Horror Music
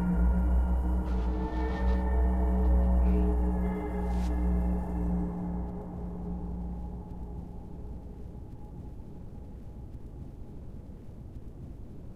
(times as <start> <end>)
0.0 9.5